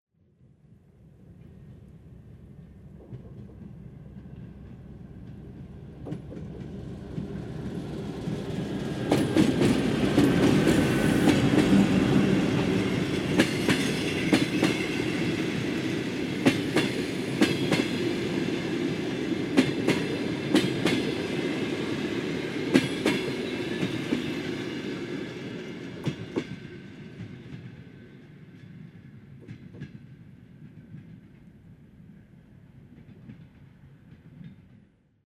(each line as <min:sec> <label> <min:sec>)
0:00.3 passing train 0:35.2